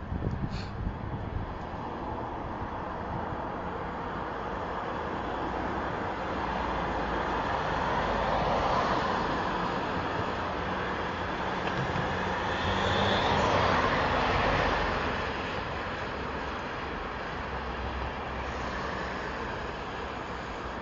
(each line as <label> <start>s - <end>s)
traffic 0.0s - 20.8s